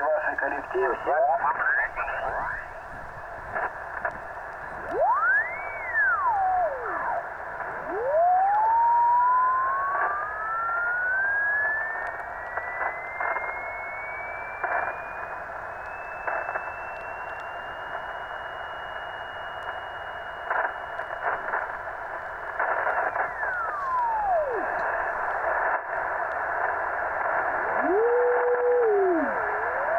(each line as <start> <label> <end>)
0.0 Carrier frequency in the radio 29.9
0.0 Smooth tuning on the radio 29.9
0.0 interference 29.9